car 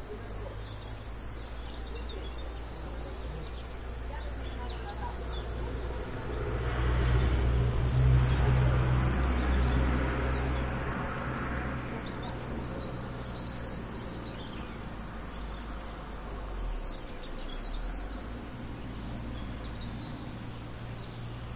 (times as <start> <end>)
5.0 21.5